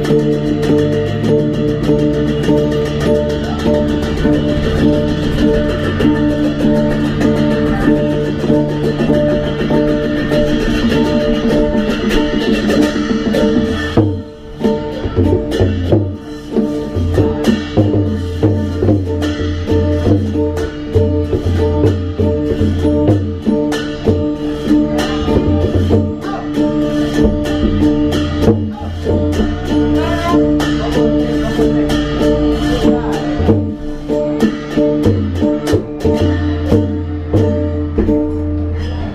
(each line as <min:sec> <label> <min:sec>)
0:00.0 Cymbals 0:39.1
0:00.0 cymbals hanging in a wood structure 0:39.1
0:00.0 drums 0:39.1